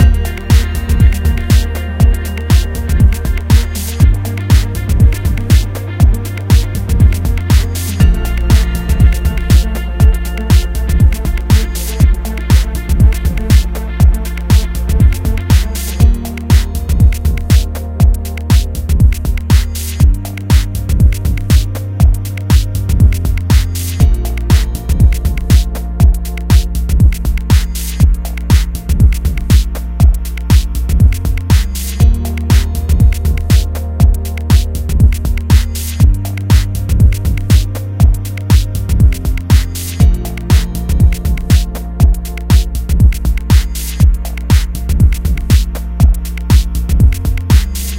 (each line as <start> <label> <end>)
0.0 drum kit 47.9
0.0 synth 47.9